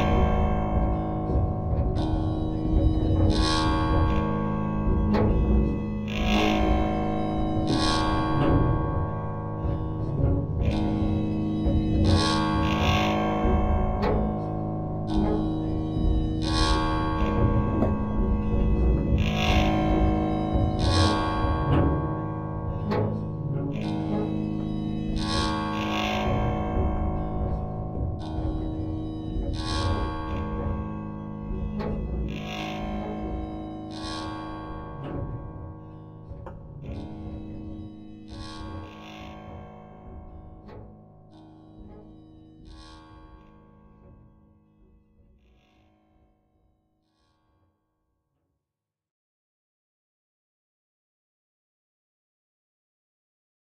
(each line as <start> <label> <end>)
0.0 Ebow drone multi 46.5